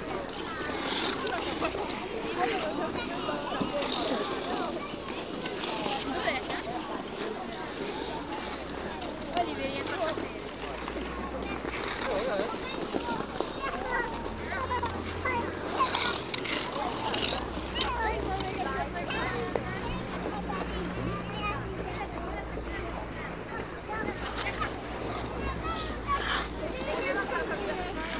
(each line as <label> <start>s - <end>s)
Ice-skaters on a temporary outdoor ice-rink 0.0s - 28.1s